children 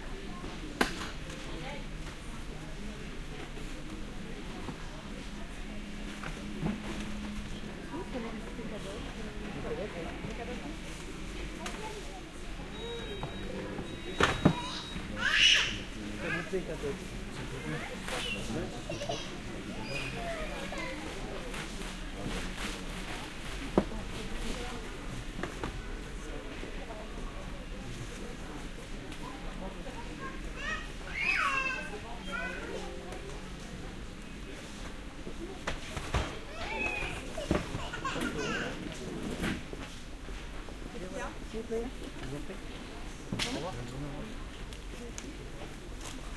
0:30.1 0:33.0, 0:36.4 0:38.8

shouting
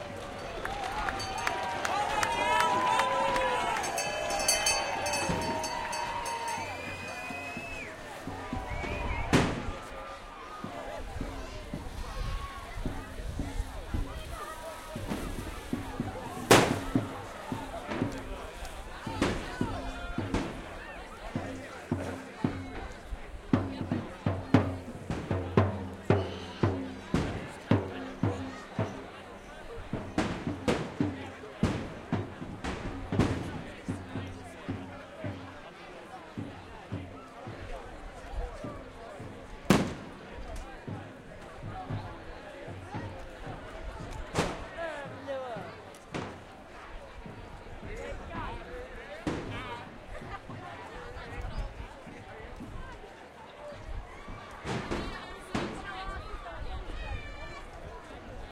0:00.2 0:10.0

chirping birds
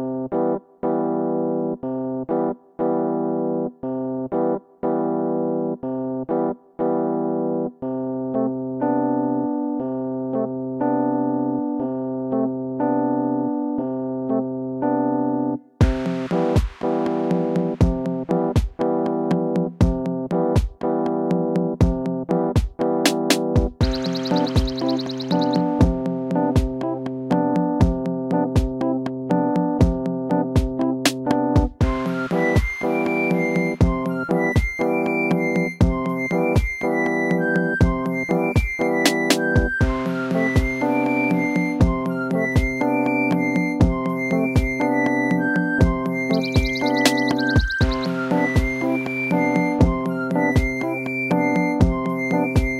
0:23.8 0:26.0, 0:44.3 0:50.7

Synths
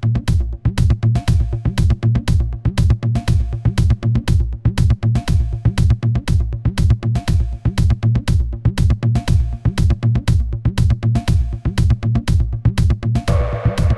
0:13.3 0:13.9

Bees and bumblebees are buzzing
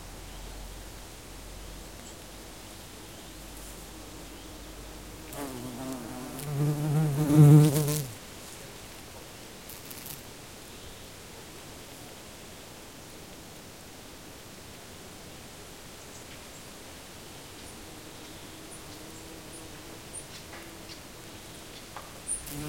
0:02.8 0:08.2, 0:17.6 0:22.6

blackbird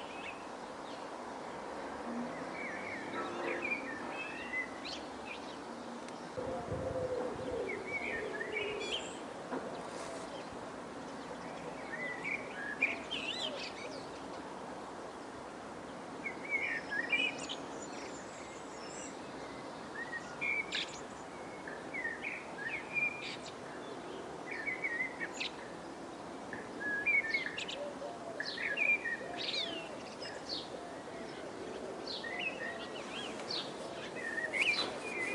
0:06.2 0:14.4, 0:26.5 0:35.3

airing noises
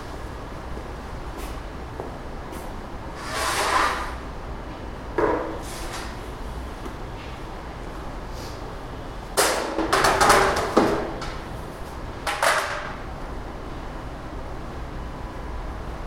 0:02.6 0:04.3, 0:08.2 0:08.8

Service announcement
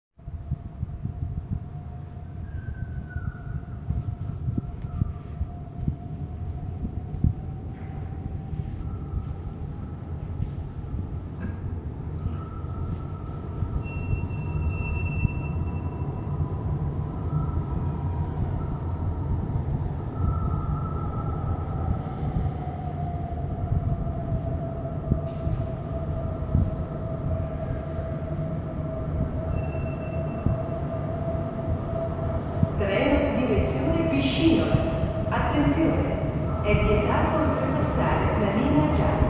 0:32.8 0:39.2

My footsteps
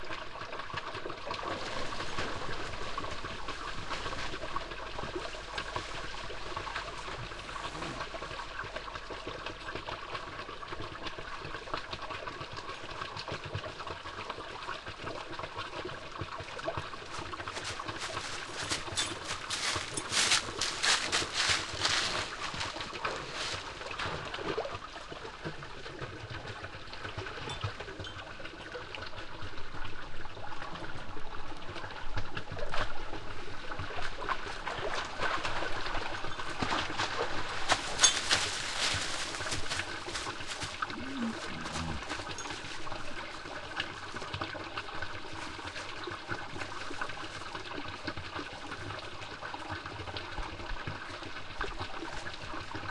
0:17.1 0:24.1, 0:36.6 0:43.4

